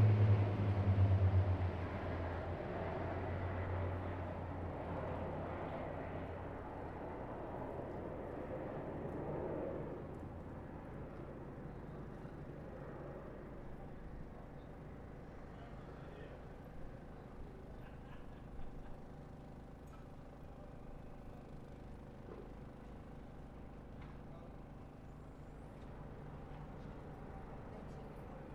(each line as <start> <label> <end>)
0.0 quieter plane formations, building to very loud 15.4